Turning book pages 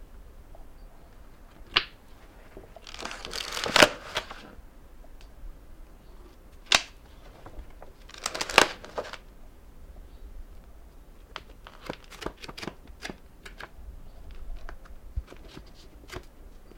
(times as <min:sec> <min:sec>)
0:02.1 0:04.6, 0:06.3 0:09.2, 0:11.3 0:13.7, 0:14.3 0:16.7